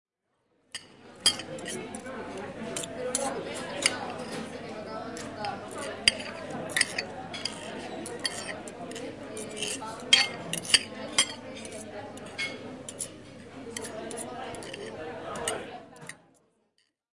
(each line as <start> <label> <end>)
0.7 fork and food 16.9